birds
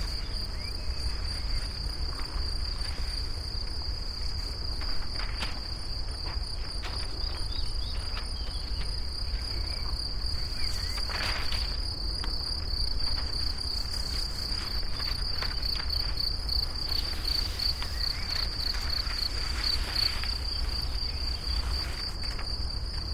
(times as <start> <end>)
0.0 1.9, 6.3 12.0, 13.2 22.2